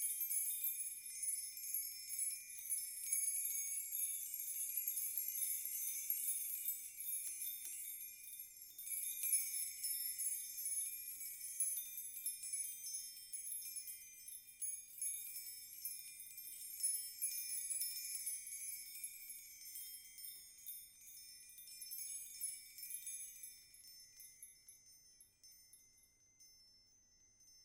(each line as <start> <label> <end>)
0.0 chime bar made from various size house keys 27.6